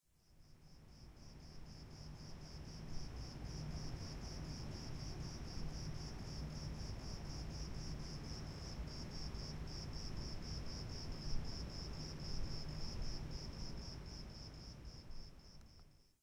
0.2s Crickets 16.2s

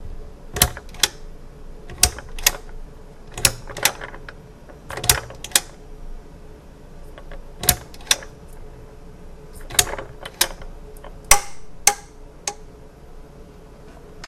0.6s turning off and on a lamp with a pull-string 1.3s
1.9s turning off and on a lamp with a pull-string 5.8s
7.1s turning off and on a lamp with a pull-string 8.4s
9.6s turning off and on a lamp with a pull-string 12.7s

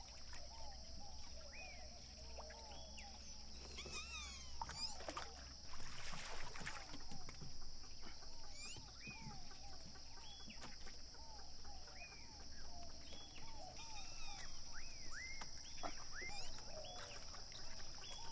0.0s lake wave 7.4s
0.0s birds 18.3s
0.0s crickets 18.3s

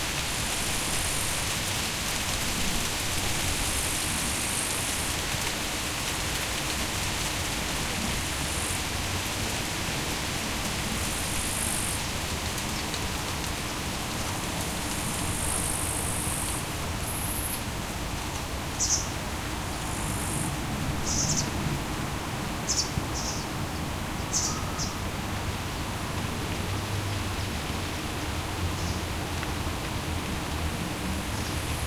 0.0s wind 31.8s
19.8s cricket 21.5s

